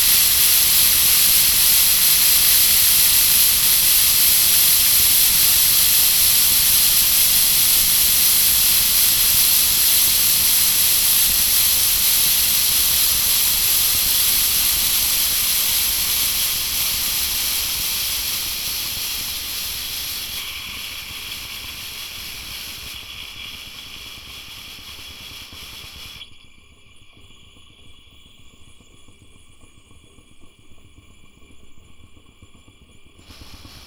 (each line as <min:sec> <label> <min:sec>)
0:00.0 hissing faucet 0:26.2
0:33.2 hissing faucet 0:33.8